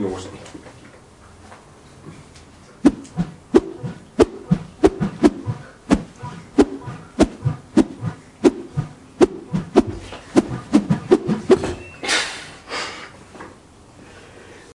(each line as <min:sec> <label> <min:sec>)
0:02.9 Swinging metal pipe 0:11.9